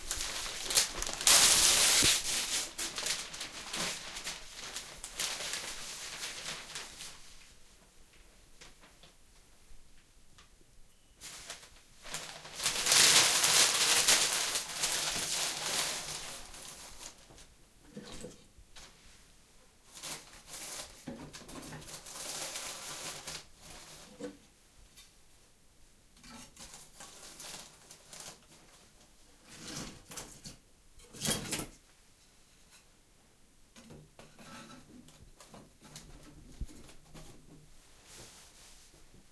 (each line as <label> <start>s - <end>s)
paper rustling 0.0s - 7.6s
Preparing wood and paper 0.0s - 9.2s
paper rustling 11.2s - 17.5s
Preparing wood and paper 11.2s - 19.2s
paper rustling 19.9s - 24.1s
Preparing wood and paper 19.9s - 24.4s
Preparing wood and paper 26.3s - 30.6s
paper rustling 26.5s - 28.9s